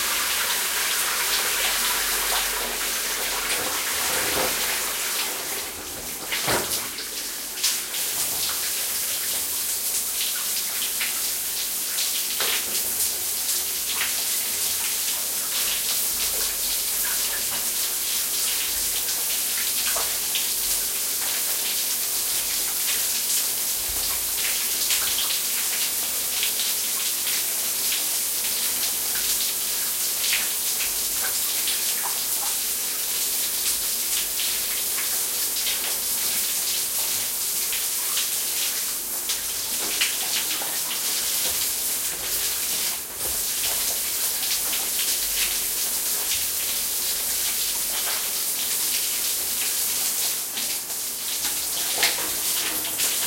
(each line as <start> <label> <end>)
0.0 shower 53.2